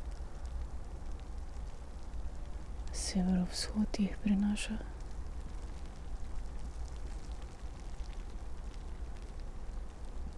0.0s wind 10.3s
2.8s spoken words and whisperings 5.0s

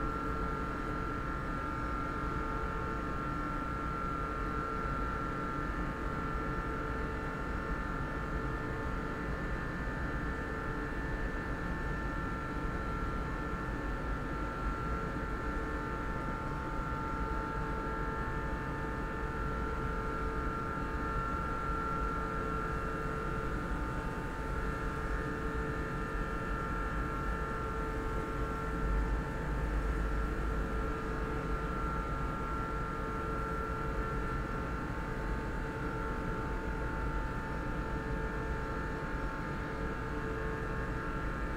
0.0s office building air conditioning 41.5s

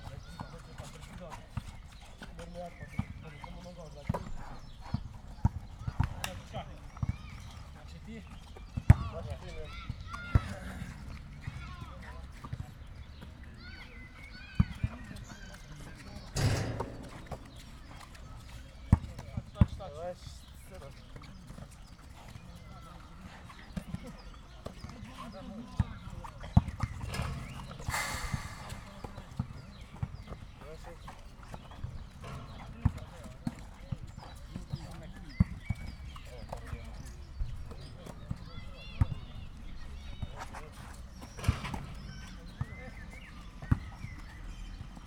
0.0s youngsters are playing basketball 45.0s

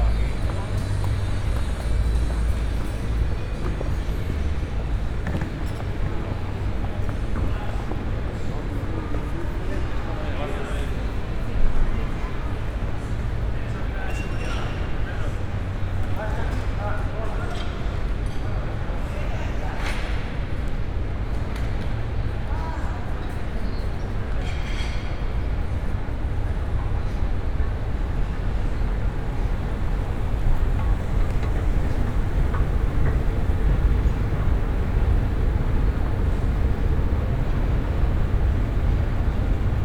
0.0s riding moving pathwalks 7.5s
27.7s riding moving pathwalks 39.8s

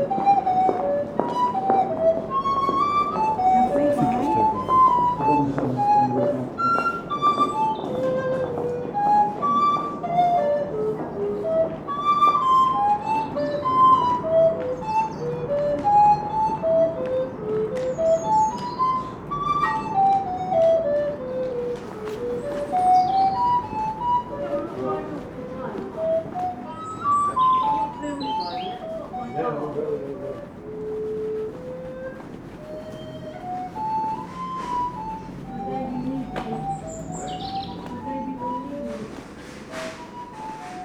0.0s busker plays a recorder 40.8s
0.0s girl behind the counter is busy 40.8s
3.1s two ladies talk 6.2s
22.9s two ladies talk 29.5s
35.2s two ladies talk 39.2s

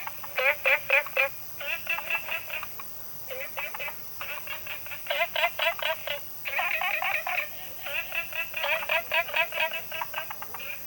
0.0s Frogs chirping 10.8s

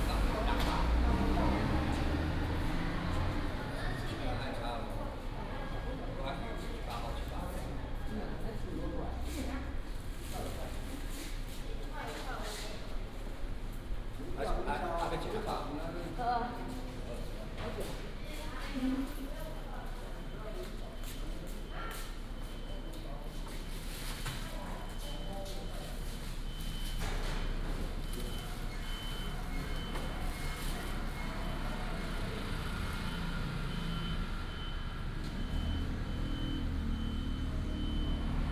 0.0s traffic sound 11.5s
27.0s traffic sound 38.5s

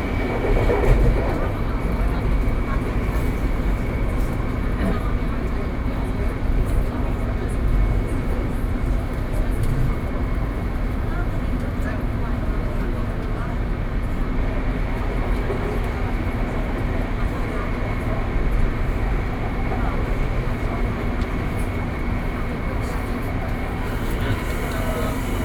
0.0s Take the MRT 25.4s

